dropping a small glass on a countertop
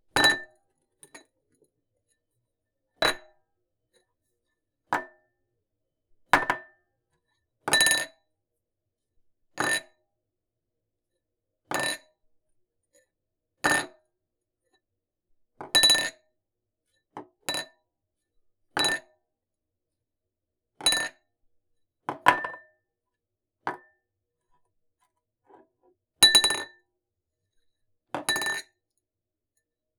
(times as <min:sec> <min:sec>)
0:22.1 0:22.6